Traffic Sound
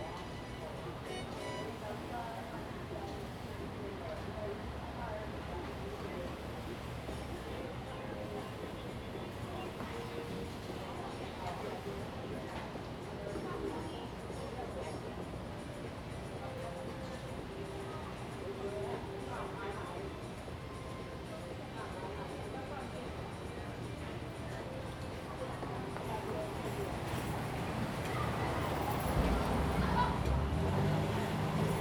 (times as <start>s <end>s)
27.4s 31.8s